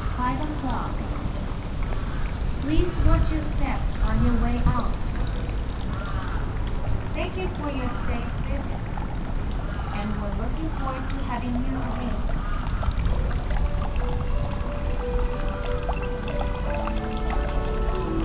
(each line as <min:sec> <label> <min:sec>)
0:00.0 sensational strong cicades in the nearby trees 0:18.2
0:00.0 small traditionel japanese fountain 0:18.2